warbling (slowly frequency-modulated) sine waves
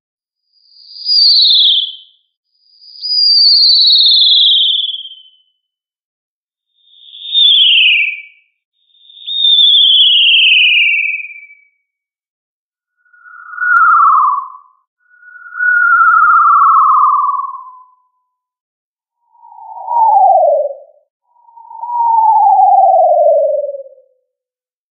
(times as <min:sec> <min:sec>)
0:13.0 0:18.1, 0:19.2 0:24.1